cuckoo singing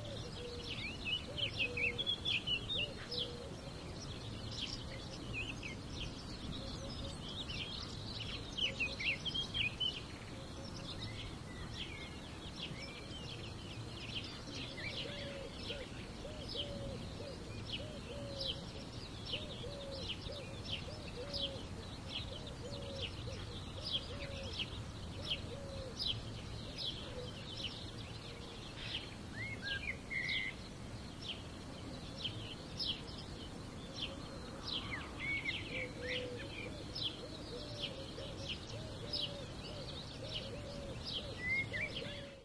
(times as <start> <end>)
0.0 3.6, 34.9 42.4